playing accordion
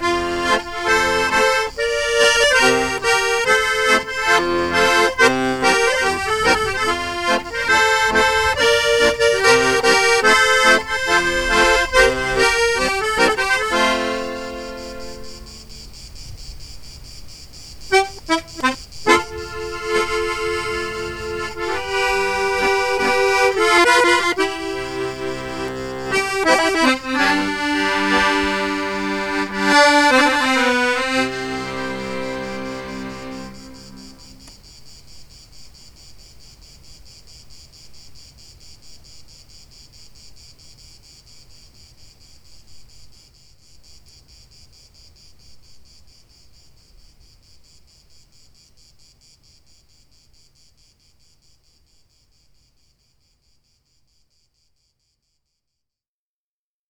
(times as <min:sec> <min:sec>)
0:00.0 0:15.6, 0:17.9 0:34.6